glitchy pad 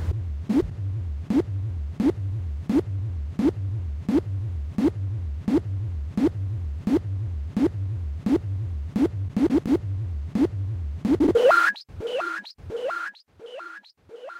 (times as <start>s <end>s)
11.2s 14.3s